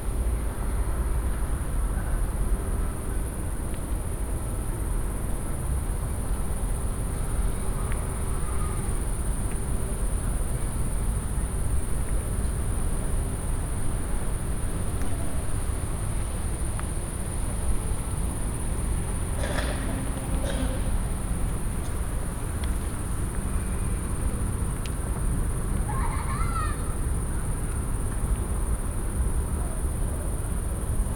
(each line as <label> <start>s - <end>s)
air conditioners and fans 0.0s - 31.1s
cicadas drone 0.1s - 31.1s
fright train hauling 17.0s - 24.0s
kids protesting 25.9s - 27.0s